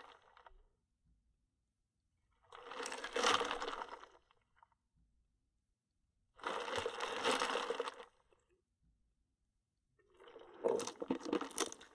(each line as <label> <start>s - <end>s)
swallow 10.0s - 11.9s
ice sloshing in the liquid 10.2s - 11.9s
ice rattling in the cup 10.5s - 11.9s